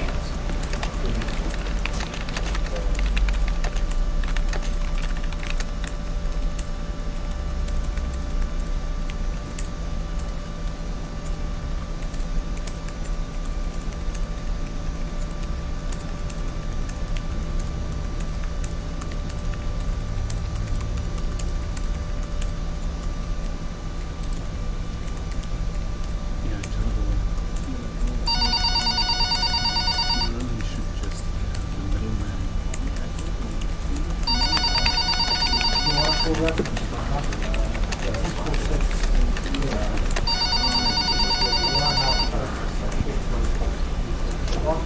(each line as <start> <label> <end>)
0.0 typing 26.8
0.0 office activities 44.8
26.5 voices 44.8
27.4 typing 43.6
28.3 telephone 30.5
28.3 fax 30.8
28.3 printer 31.2
32.0 paper 40.3
33.2 printer 43.8
34.2 fax 42.7
34.3 telephone 36.8
40.2 telephone 42.4